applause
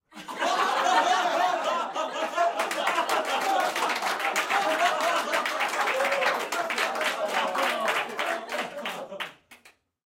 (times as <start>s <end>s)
2.3s 9.9s